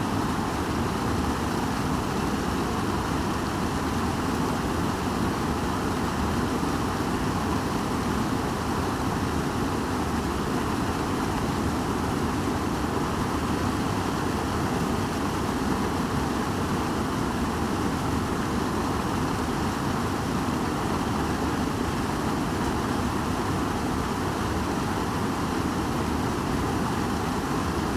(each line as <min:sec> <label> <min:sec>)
0:00.0 concrete man-made waterfall 0:27.9